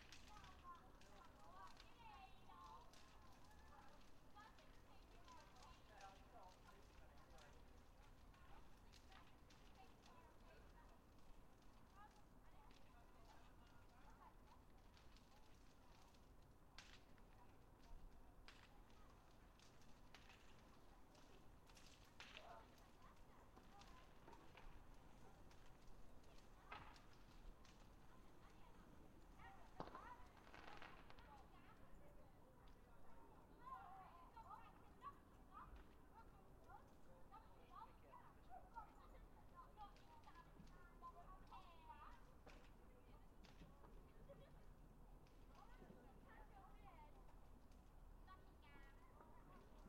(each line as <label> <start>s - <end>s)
bnfire 0.0s - 49.8s
people 0.0s - 49.8s
fireworks 18.4s - 31.9s